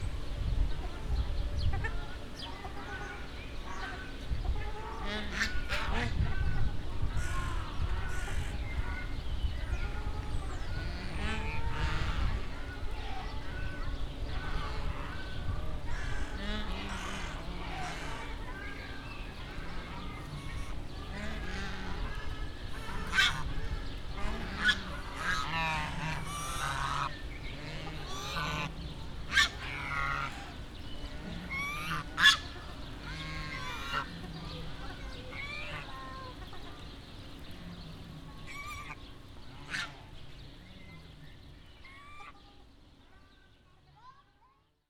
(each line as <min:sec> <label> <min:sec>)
0:00.0 ducks 0:43.2
0:00.0 other birds 0:44.8